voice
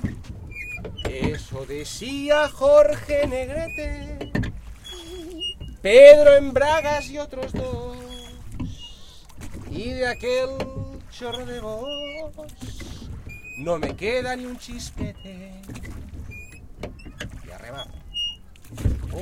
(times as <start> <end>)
1.1 2.4, 17.5 17.9